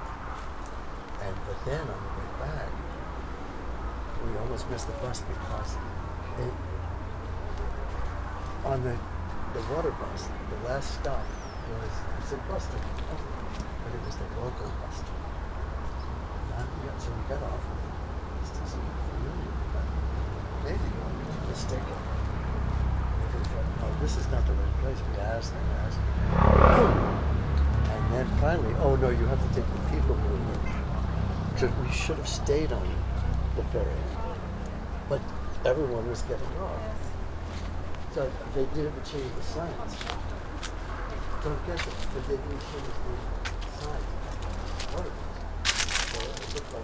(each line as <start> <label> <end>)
0.0 high grass 46.8
1.1 people 46.8